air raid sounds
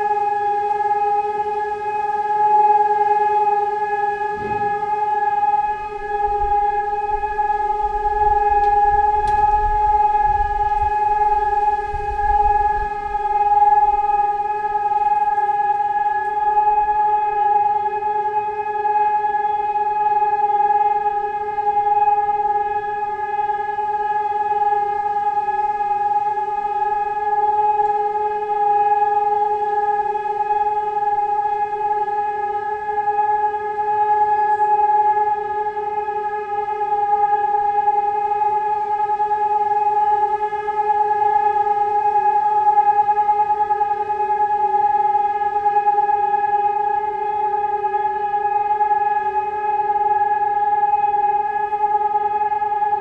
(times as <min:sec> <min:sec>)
0:01.9 0:34.8